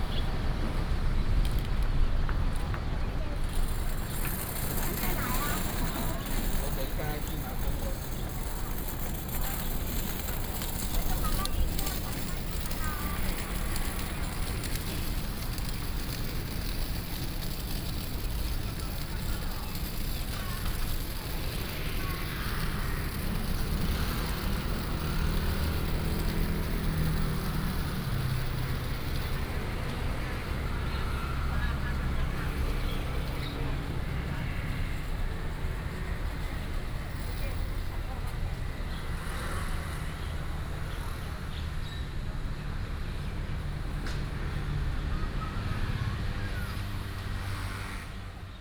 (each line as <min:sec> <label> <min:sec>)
0:00.0 Traffic sound 0:48.6
0:00.0 Walking on the road 0:48.6
0:00.0 trolley 0:48.6